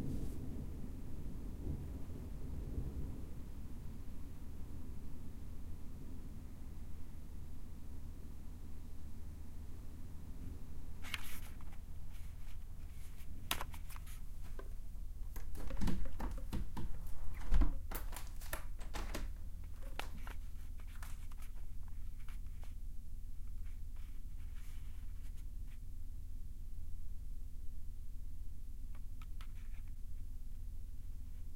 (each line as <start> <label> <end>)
15.3 Opening a window 20.4